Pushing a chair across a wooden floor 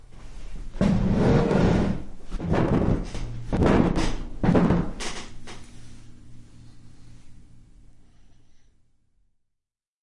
0:00.7 0:03.2

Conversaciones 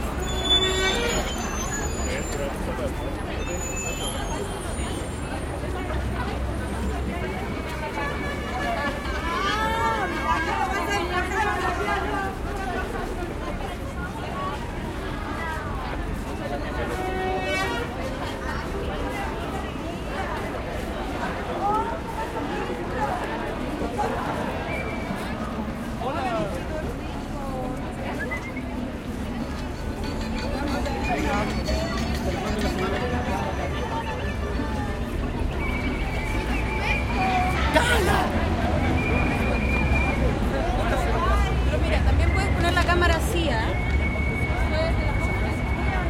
0:16.3 0:46.0

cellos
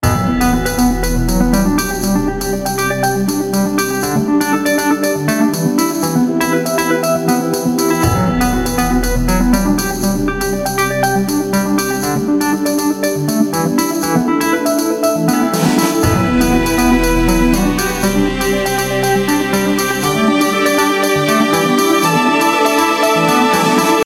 0:15.5 0:24.0

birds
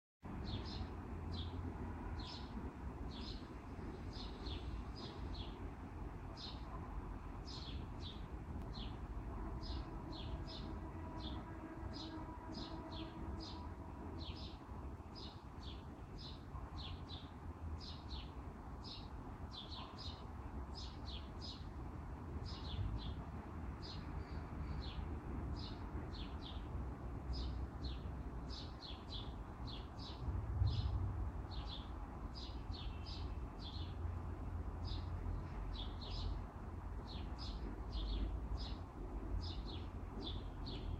0:00.5 0:21.7, 0:34.8 0:40.9

